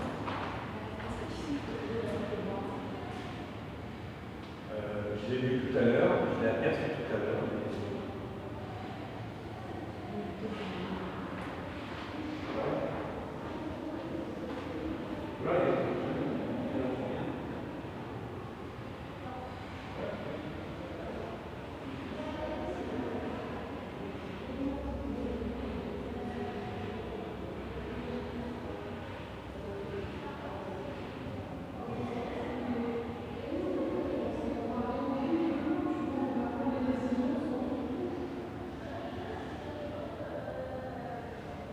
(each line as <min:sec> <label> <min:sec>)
0:00.0 people talking 0:03.5
0:00.0 group of children in a room nearby 0:41.7
0:04.7 people talking 0:17.4
0:19.1 people talking 0:41.7